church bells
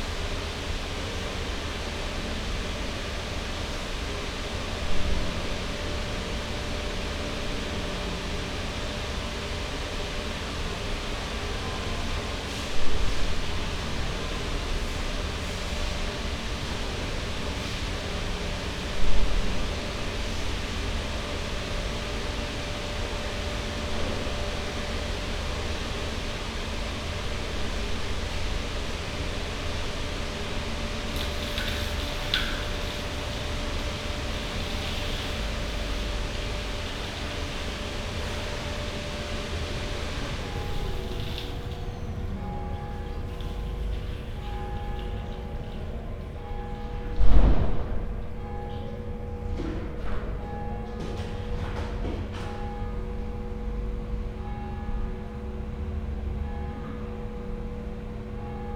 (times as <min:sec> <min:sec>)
0:15.8 0:58.7